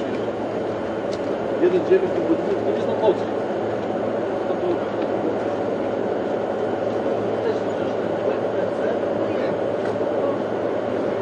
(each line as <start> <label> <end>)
0.0 traffic 11.2
0.0 truck 11.2